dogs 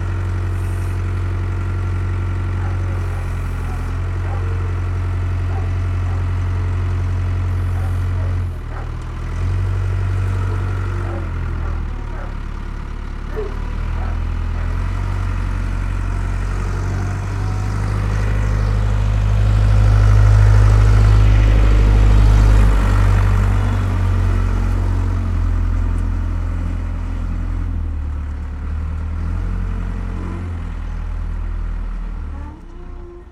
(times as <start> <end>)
2.6 4.8, 5.5 6.3, 7.6 9.0, 10.4 12.4, 13.3 14.8